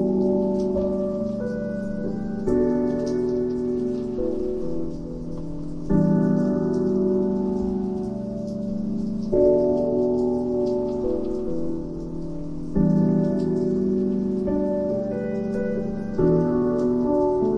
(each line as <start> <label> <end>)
0.0 Piano 17.5